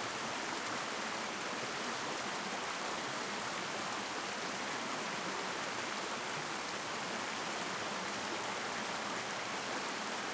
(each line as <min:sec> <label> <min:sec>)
0:00.0 large mountain stream 0:10.3